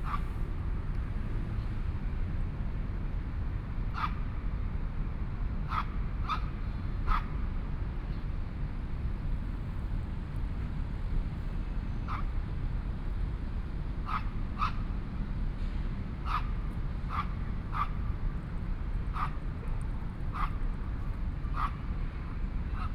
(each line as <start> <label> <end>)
0.0 Pedestrian 22.9
0.0 Traffic Sound 22.9
14.1 Dogs barking 14.8
16.2 Dogs barking 16.5
17.1 Dogs barking 18.0
19.1 Dogs barking 19.4
20.3 Dogs barking 20.6
21.6 Dogs barking 21.8